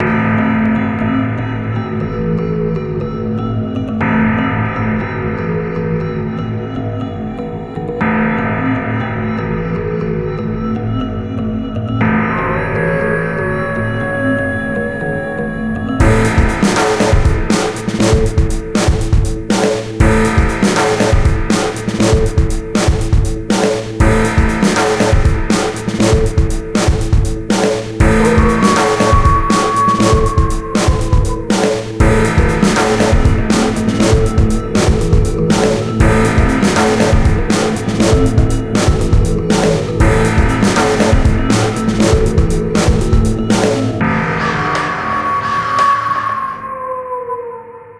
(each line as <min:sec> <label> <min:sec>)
0:00.0 bass 0:19.4
0:00.0 synth 0:47.9
0:20.0 bass 0:23.3
0:24.0 bass 0:27.3
0:28.0 bass 0:31.4
0:32.0 bass 0:44.8
0:42.7 bell tolls 0:46.5